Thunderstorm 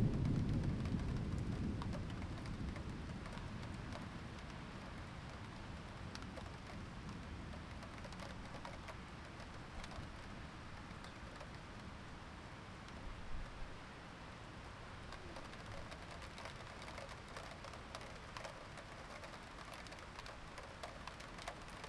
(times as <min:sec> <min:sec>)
0:00.0 0:05.6